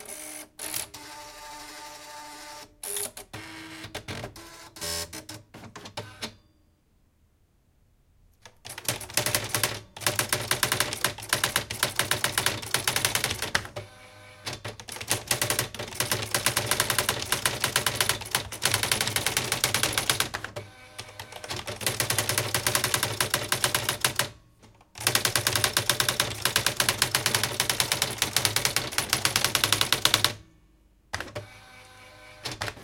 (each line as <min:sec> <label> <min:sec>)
0:08.4 Typing 0:13.7
0:14.5 Typing 0:24.3
0:25.0 Typing 0:30.4